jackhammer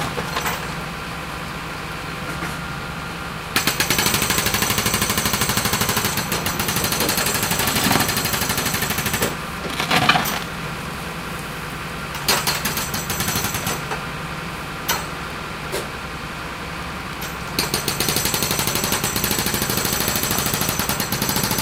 0:03.6 0:10.5, 0:12.2 0:13.9, 0:17.6 0:21.6

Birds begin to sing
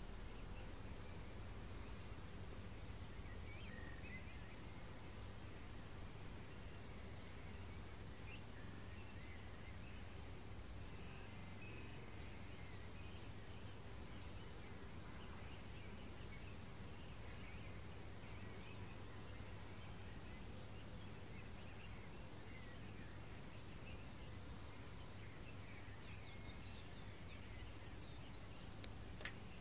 0:03.0 0:04.9

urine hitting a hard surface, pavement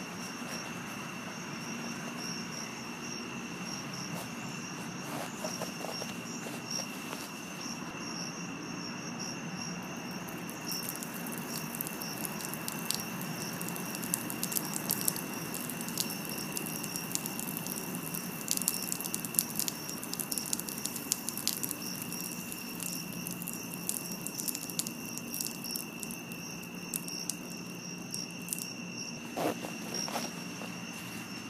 0:10.2 0:30.4

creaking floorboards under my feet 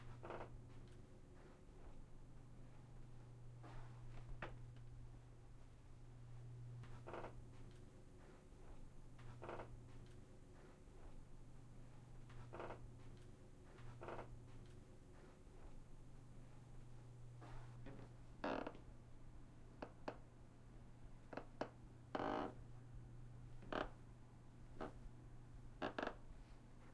0:00.0 0:01.0, 0:06.8 0:10.1, 0:12.3 0:14.7, 0:17.4 0:18.8, 0:21.3 0:22.6, 0:23.6 0:24.0, 0:24.8 0:25.0, 0:25.8 0:26.2

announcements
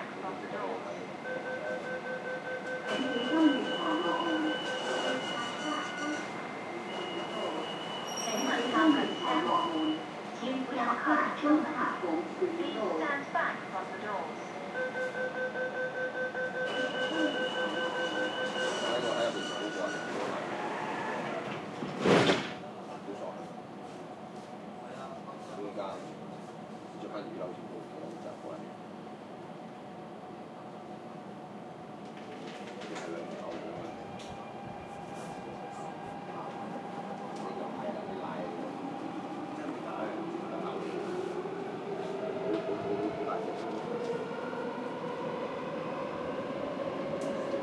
0:00.0 0:20.7

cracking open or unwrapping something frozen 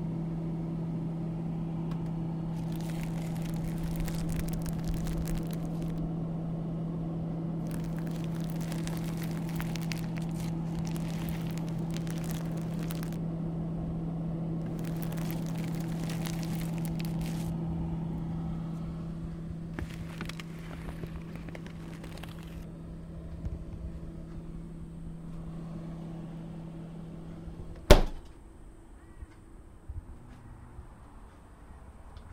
0:02.5 0:06.1, 0:07.6 0:13.2, 0:14.6 0:18.2, 0:19.7 0:22.7

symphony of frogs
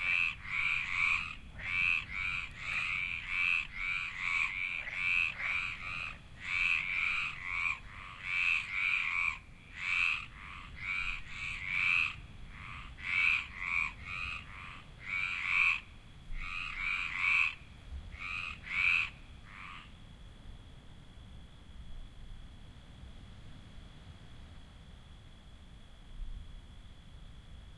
0:00.0 0:20.6

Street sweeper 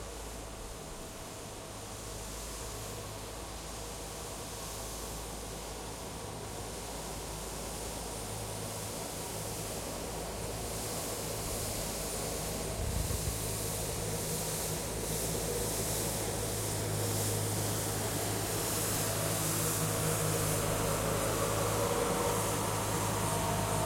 0:09.2 0:23.8

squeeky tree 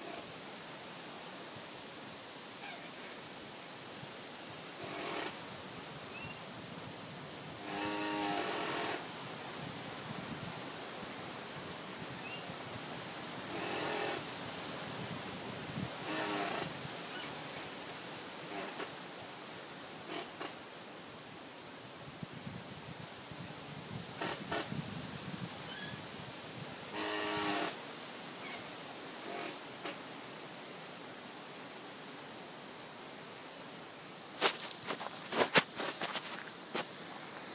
0:02.6 0:03.2, 0:12.1 0:12.6, 0:13.5 0:14.3, 0:16.0 0:17.7, 0:20.0 0:20.6, 0:25.6 0:26.1, 0:28.4 0:30.0, 0:34.3 0:37.5

